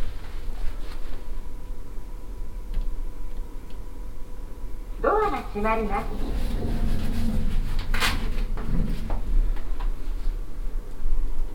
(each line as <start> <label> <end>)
3.5 talking hotel elevator 10.7